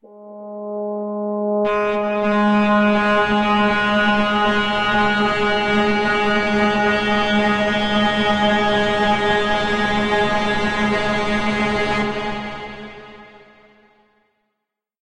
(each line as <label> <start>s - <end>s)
Big full pad sound 0.0s - 11.0s